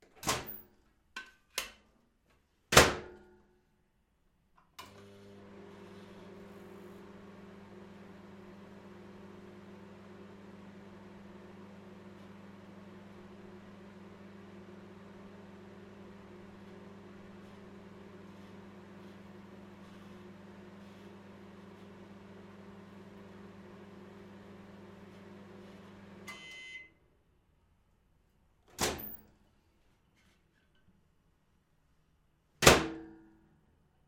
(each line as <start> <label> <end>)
24.6 close microwave 27.0
28.7 Open microwave 29.2
28.7 close microwave 29.2
32.6 close microwave 33.2